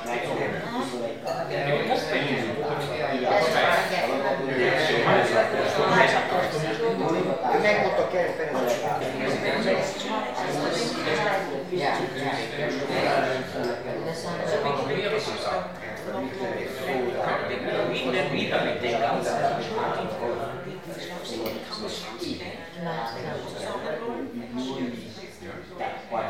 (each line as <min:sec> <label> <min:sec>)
0:00.0 loud speeches 0:26.2